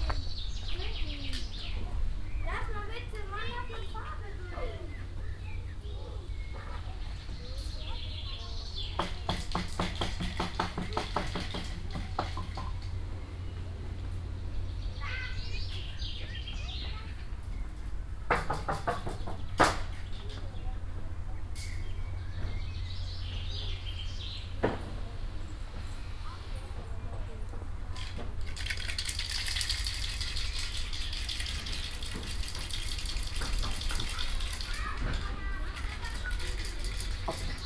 people 0:00.1 - 0:12.8
people 0:24.4 - 0:37.6

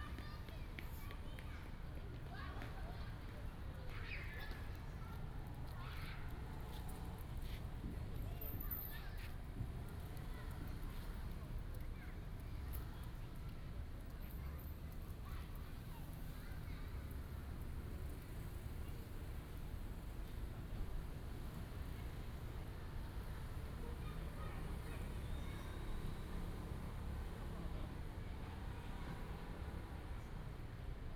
Child 0:00.0 - 0:17.2
Child 0:23.6 - 0:29.5

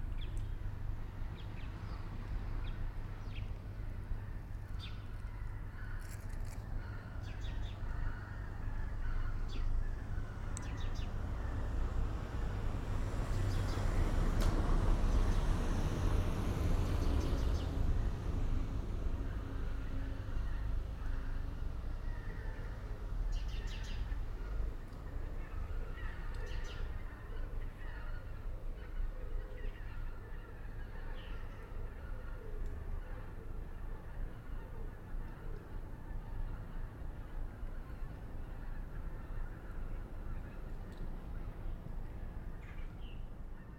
traffic 0:00.0 - 0:43.7

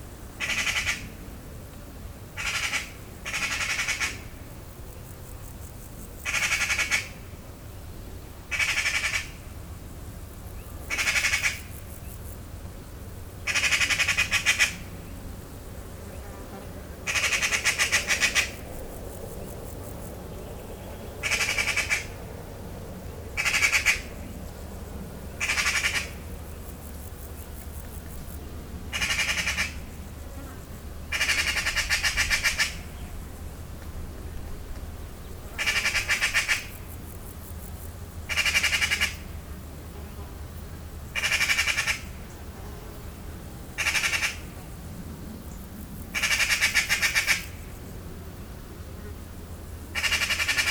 anxious magpie 0:00.4 - 0:01.1
anxious magpie 0:02.4 - 0:04.2
anxious magpie 0:08.5 - 0:09.4
anxious magpie 0:10.9 - 0:11.7
anxious magpie 0:13.5 - 0:14.8
anxious magpie 0:17.1 - 0:18.6
anxious magpie 0:21.2 - 0:22.2
anxious magpie 0:25.4 - 0:26.2
anxious magpie 0:28.9 - 0:29.8
anxious magpie 0:35.6 - 0:36.8
anxious magpie 0:38.3 - 0:39.2
anxious magpie 0:41.2 - 0:42.1
anxious magpie 0:43.8 - 0:44.5
anxious magpie 0:46.2 - 0:47.6
anxious magpie 0:50.0 - 0:50.7

